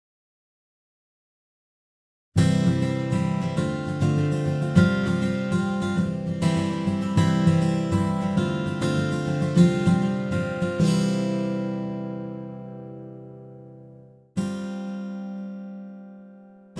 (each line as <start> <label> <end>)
2.4 Folk Guitar chords 16.7